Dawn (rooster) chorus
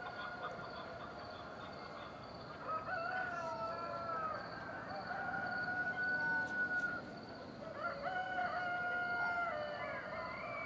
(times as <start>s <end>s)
2.6s 7.0s, 7.6s 10.6s